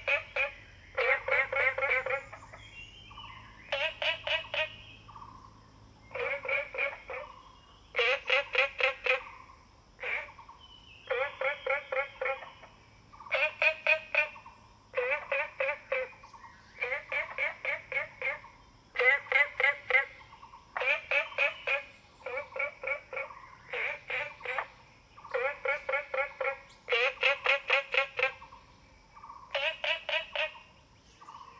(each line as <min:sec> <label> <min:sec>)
0:00.0 Frogs chirping 0:31.5
0:00.0 Insects sounds 0:31.5
0:00.0 birds 0:31.5